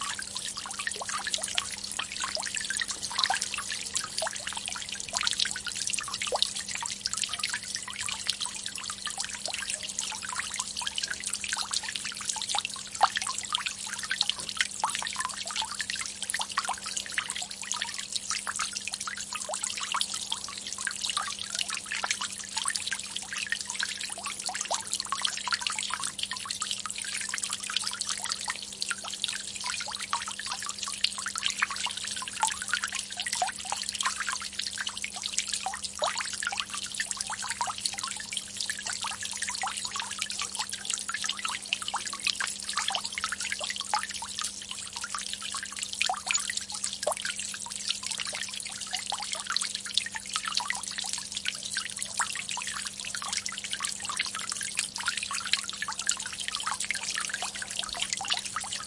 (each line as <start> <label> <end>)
0.0 fountain 58.8